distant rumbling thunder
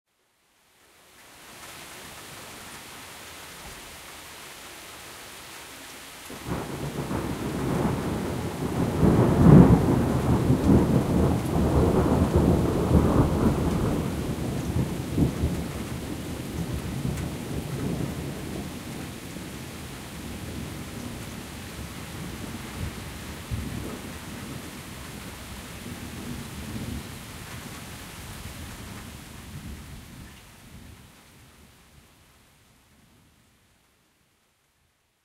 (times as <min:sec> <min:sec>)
0:06.4 0:19.6